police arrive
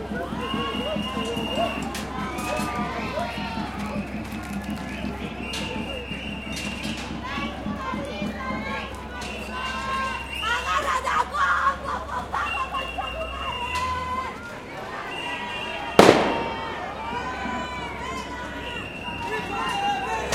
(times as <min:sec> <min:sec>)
0:08.6 0:20.3